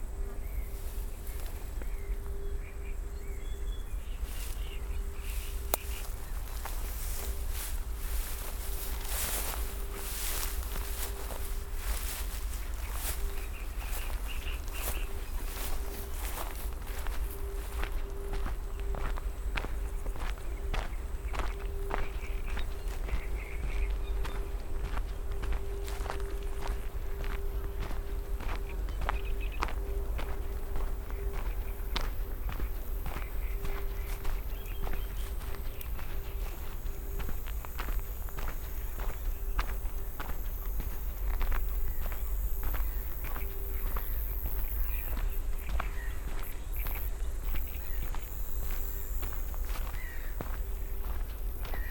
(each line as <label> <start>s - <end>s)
walking 4.0s - 51.9s